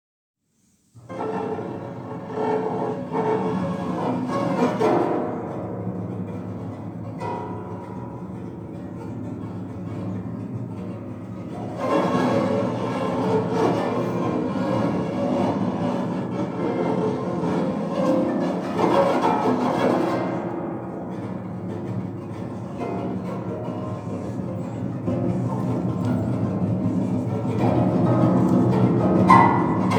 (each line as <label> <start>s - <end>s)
piano 1.1s - 29.9s